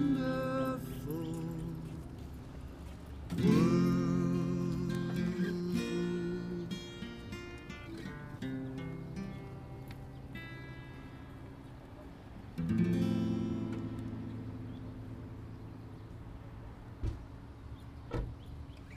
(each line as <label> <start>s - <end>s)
Busker 0.0s - 18.9s
cars 0.0s - 18.9s